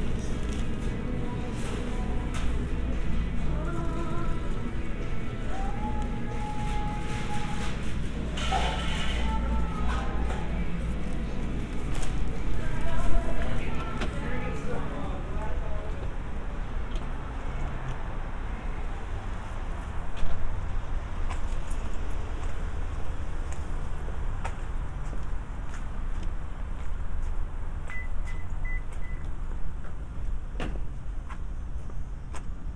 people ordering 0.0 - 18.1

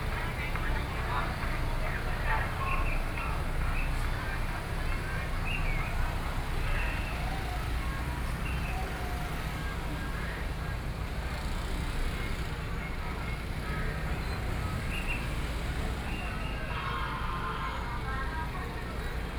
Traffic Sound 0.0 - 19.3

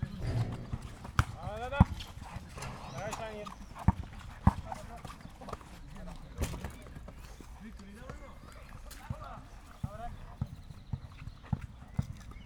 youngsters are playing basketball 0.0 - 12.4

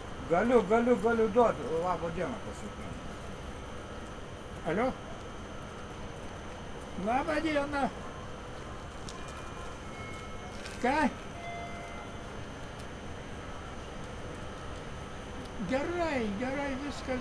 people go by, entering or exiting the train 0.0 - 17.2
train getting ready to leave 8.1 - 17.2

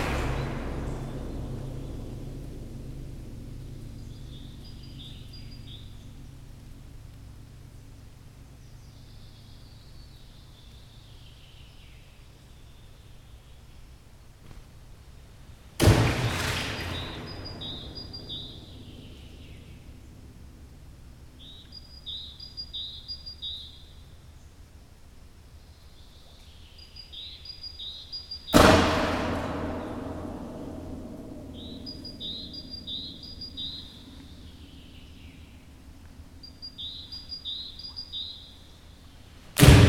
dropping stones into soviet missile silo 15.8 - 19.2

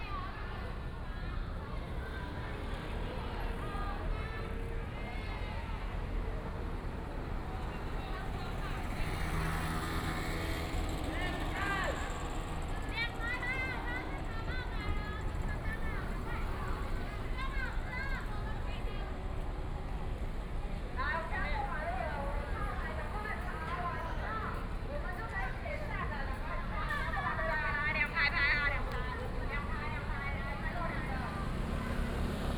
tourists 0.0 - 32.5

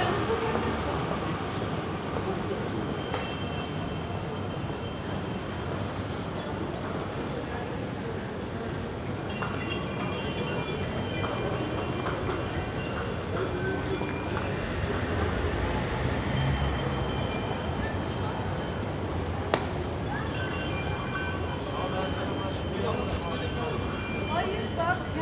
street salesman selling bells 0.0 - 25.2

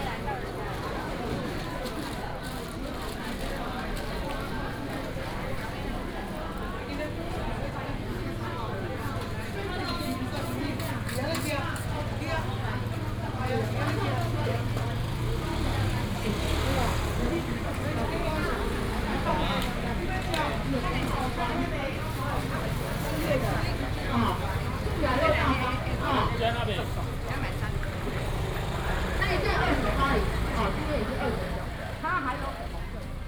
Walking in the traditional market 0.0 - 33.2
traffic sound 0.0 - 33.2
vendors peddling 6.0 - 33.2

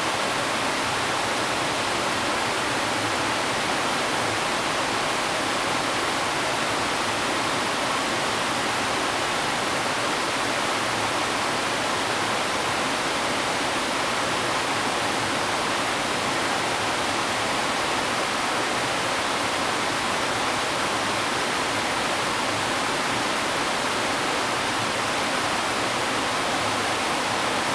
Waterfalls 0.0 - 27.7
stream 0.0 - 27.7

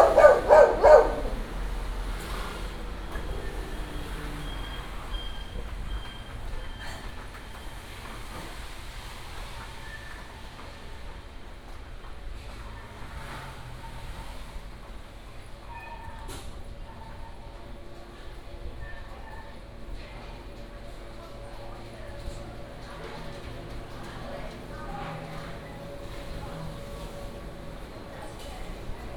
Traffic sound 0.0 - 9.8
Walking in the alley 0.0 - 29.1
Traffic sound 10.4 - 18.6
Traffic sound 20.2 - 29.1

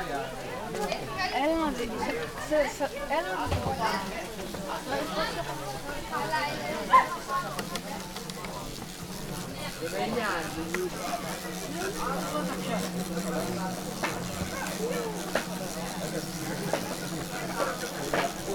kids playing 0.0 - 18.5
hikers resting 6.9 - 18.5
hornet trapped in a plastic bottle 7.3 - 18.5

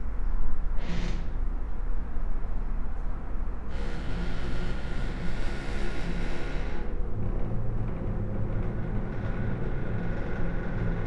traffic noise 0.0 - 11.0
wind 0.0 - 11.0
creaky lullaby 3.7 - 11.0

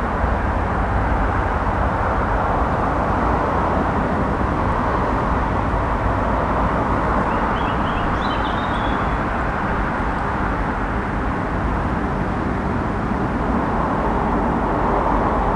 road traffic noise 0.0 - 15.5
birds 6.9 - 10.6

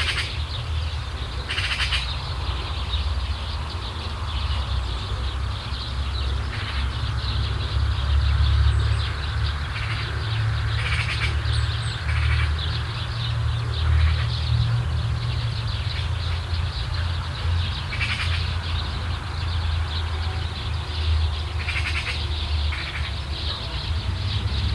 group of birds occupying a bunch of bushes 0.0 - 8.4
group of birds occupying a bunch of bushes 9.0 - 24.7

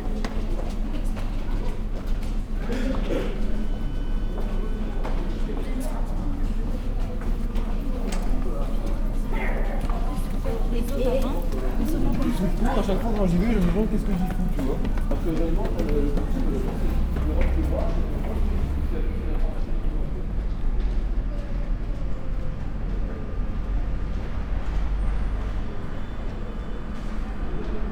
massive arrival of students, climbing stairs 0.0 - 27.9
train 0.0 - 27.9

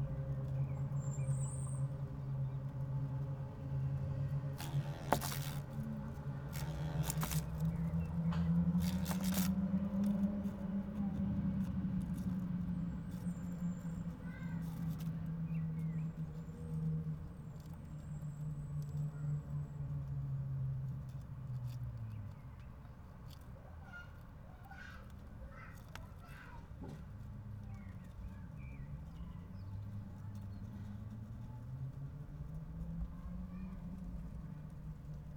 humble-bee trying to get out of a plastic bucket 4.5 - 15.2

